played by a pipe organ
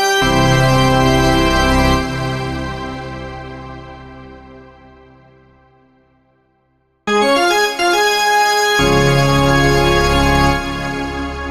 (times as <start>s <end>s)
0.2s 5.2s, 8.8s 11.5s